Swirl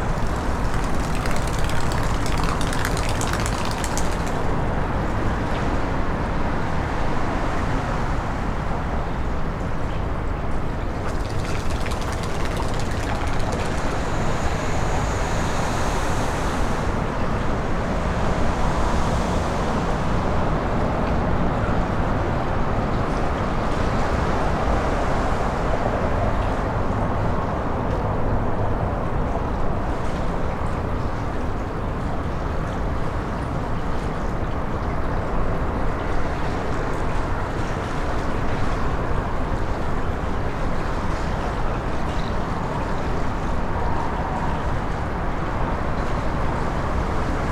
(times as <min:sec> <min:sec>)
0:00.0 0:04.6, 0:10.9 0:15.3